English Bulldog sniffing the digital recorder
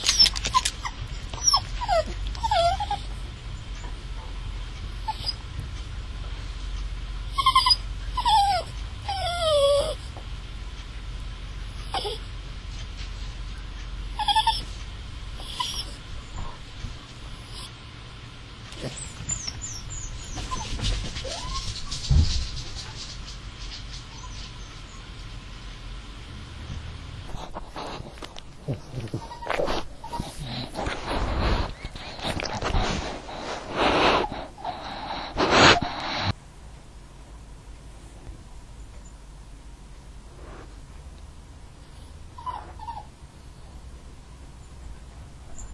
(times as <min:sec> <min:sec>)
0:27.3 0:36.4